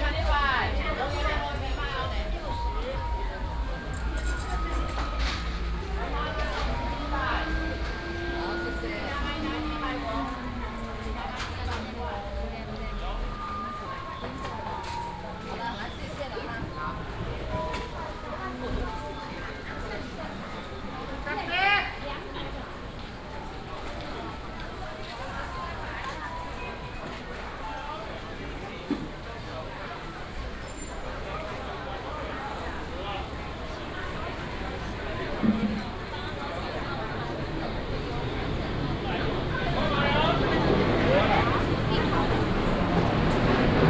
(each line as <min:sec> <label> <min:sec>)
0:00.0 vendors peddling 0:19.1
0:29.2 vendors peddling 0:43.8